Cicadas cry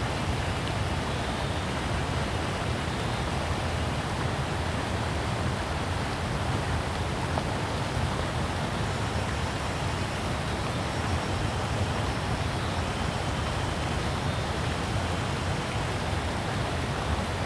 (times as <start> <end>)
0.0 4.2